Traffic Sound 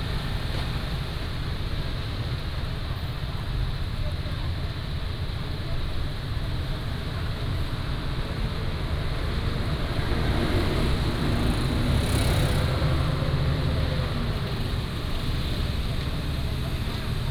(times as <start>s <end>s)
6.3s 17.3s